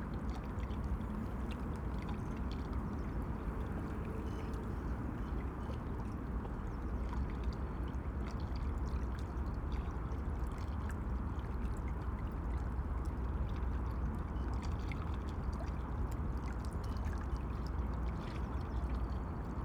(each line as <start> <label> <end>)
0.0 river ripples on the landing stage 19.6
0.4 traffic noise from the autobahn 5.9